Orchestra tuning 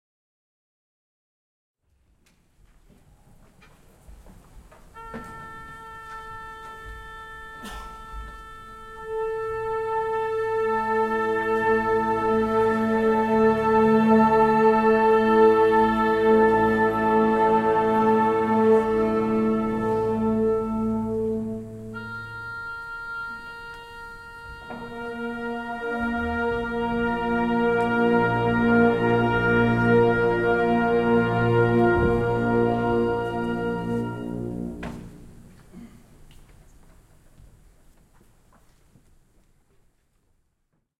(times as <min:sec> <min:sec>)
0:04.9 0:36.3